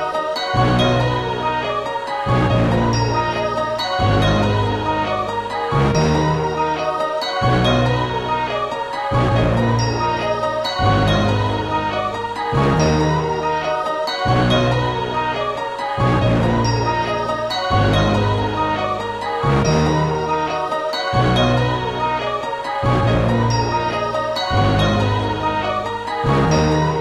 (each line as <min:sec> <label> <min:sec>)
0:00.0 choir sound 0:27.0
0:00.0 orchestral elements 0:27.0